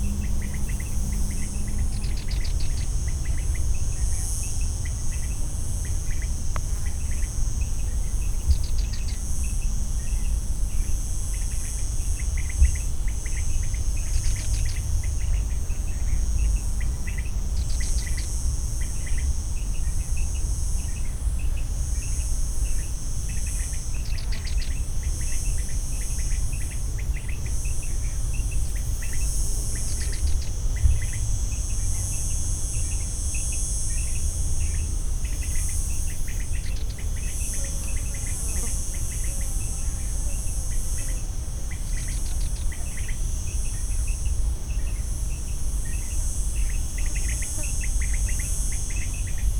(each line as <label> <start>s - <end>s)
insects buzzing along 0.0s - 49.5s